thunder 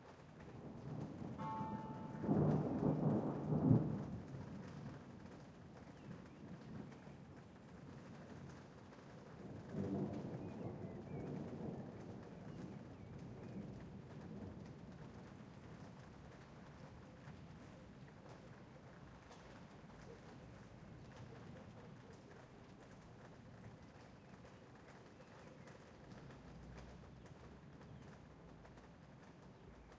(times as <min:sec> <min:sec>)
0:00.5 0:08.7, 0:09.3 0:22.5